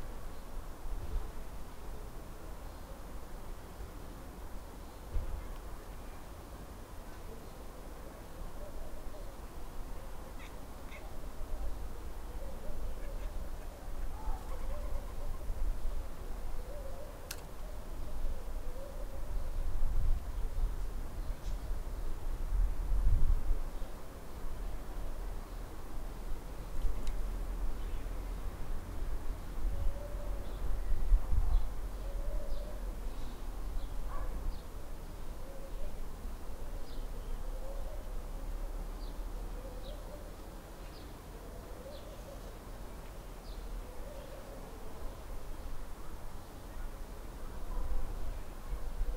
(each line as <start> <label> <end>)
0.0 street 49.1